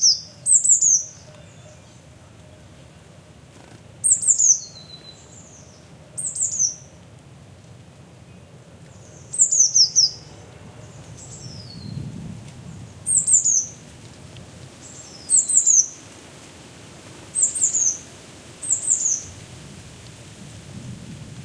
One little bird sings 0:00.0 - 0:01.9
One little bird sings 0:04.0 - 0:05.6
One little bird sings 0:09.1 - 0:10.2

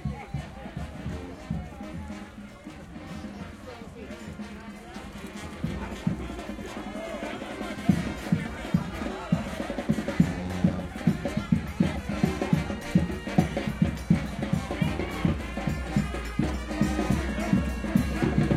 brass band 0:00.0 - 0:18.5

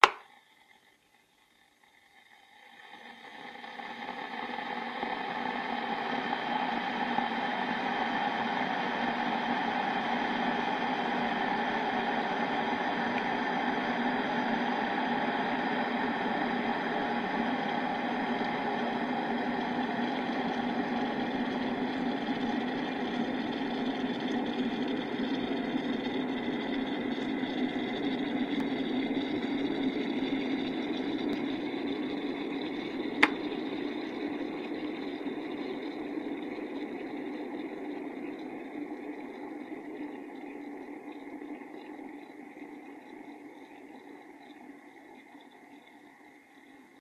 Turning on of teapot 0:00.0 - 0:00.3
Teapot boiling 0:00.0 - 0:47.0
Turning on of teapot 0:30.4 - 0:34.9

